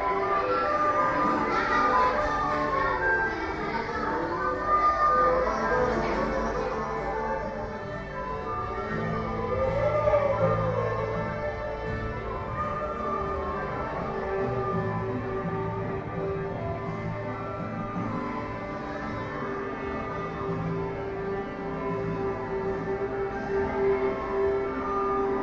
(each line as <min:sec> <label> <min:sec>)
0:00.0 tuning folk instruments 0:25.4